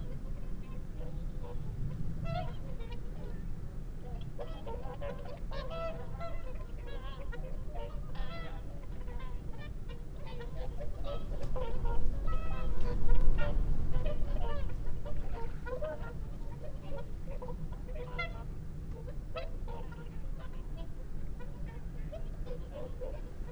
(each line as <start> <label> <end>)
0.0 barnacle geese 23.5